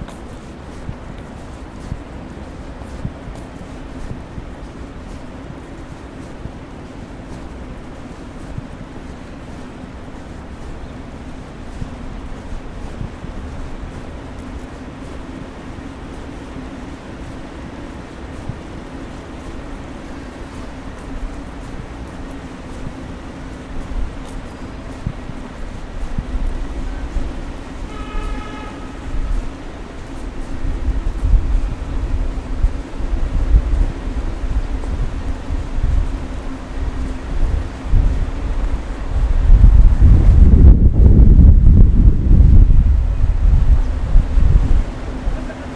light wind 0:00.0 - 0:45.7
many buses returning from schools with children 0:00.0 - 0:45.7
traffic on the street 0:00.0 - 0:45.7
walking 0:00.0 - 0:45.7

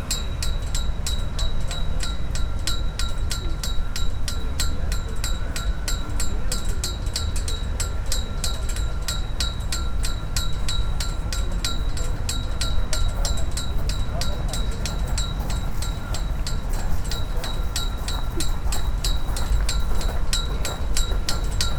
steel ropes drumming on flag poles in the wind 0:00.0 - 0:21.7

